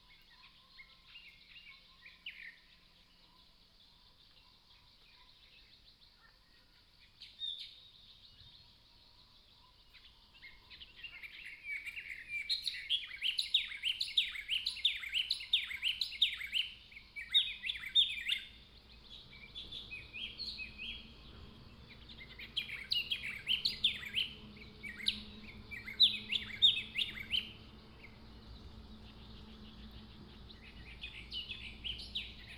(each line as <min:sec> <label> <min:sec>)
0:09.5 Bird calls 0:32.5